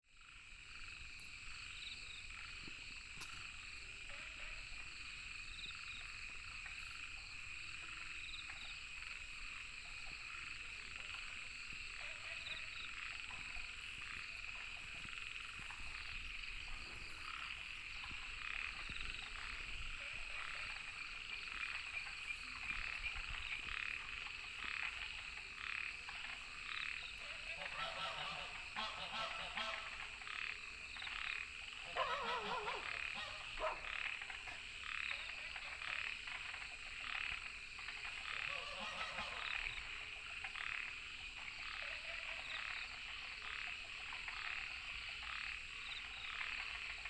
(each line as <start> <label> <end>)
0.1 Frogs chirping 47.0
8.5 Goose calls 30.5
31.1 Goose calls 47.0
31.9 Dogs barking 34.1